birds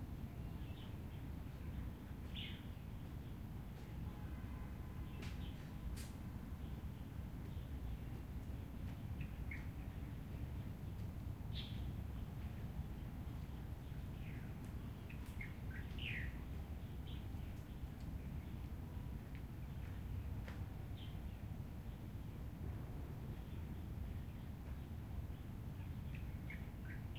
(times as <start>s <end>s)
1.8s 21.4s